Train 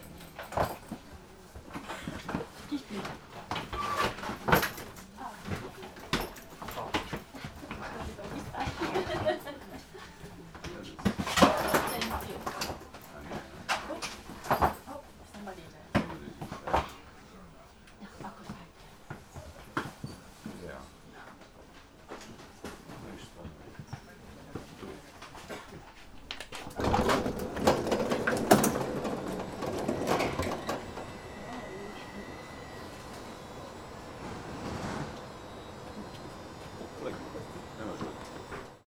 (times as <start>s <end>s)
26.7s 38.8s